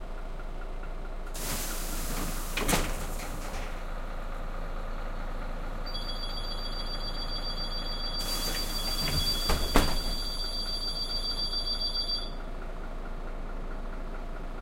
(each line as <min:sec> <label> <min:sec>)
0:01.4 bus door opening and closing 0:03.9
0:05.9 alarm 0:12.4
0:06.9 bus door opening and closing 0:12.3